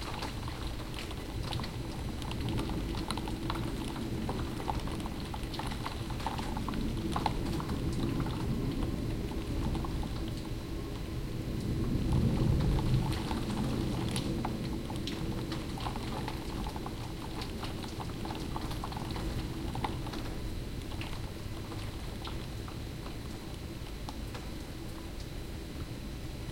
pelting rain on windows 0.0 - 26.5
rumbling thunder 11.5 - 17.2

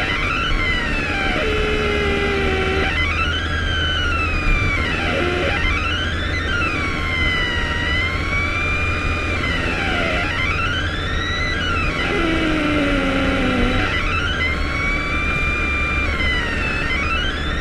noise from acceleration 0.0 - 17.6

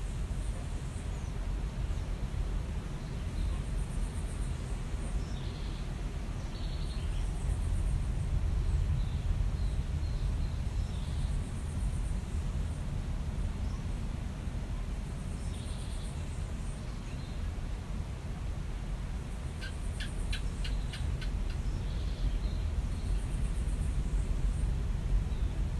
birds singing 19.5 - 23.5

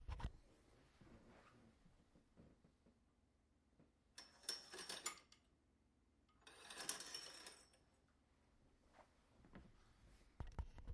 metal curtain rings on metal rod 4.2 - 5.3
metal curtain rings on metal rod 6.4 - 7.8

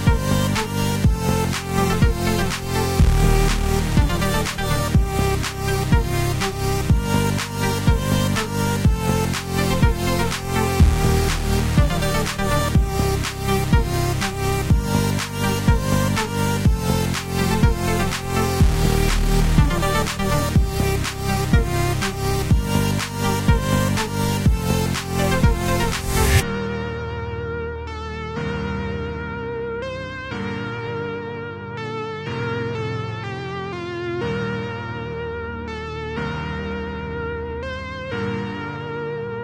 edm song 0.0 - 29.3

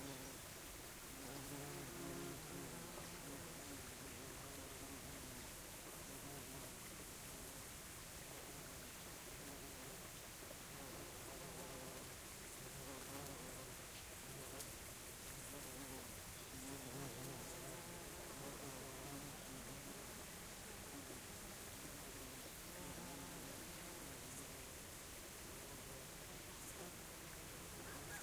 bees buzzing about 0.0 - 0.5
small stream 0.0 - 28.2
bees buzzing about 1.1 - 5.4
bees buzzing about 10.6 - 28.2
cicadas close 14.6 - 28.2
birds 27.7 - 28.2
rooster 27.8 - 28.2

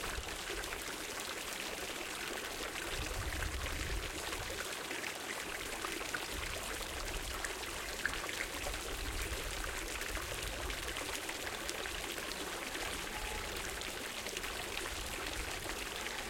Fountain of water 0.0 - 16.2

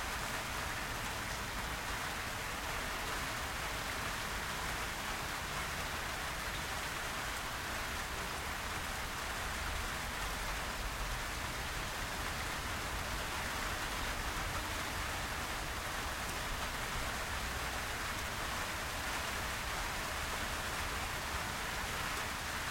Medium heavy rain 0.0 - 22.7

